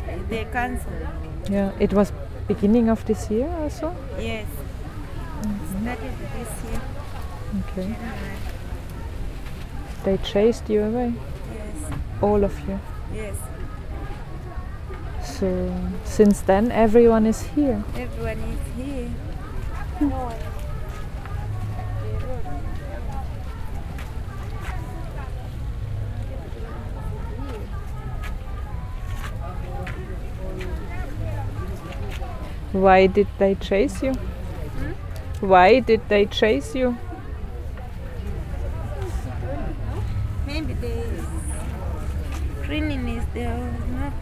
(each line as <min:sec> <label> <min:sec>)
0:00.0 Talking to Chitenge traders 0:08.5
0:31.0 Talking to Chitenge traders 0:37.2
0:38.4 Talking to Chitenge traders 0:44.2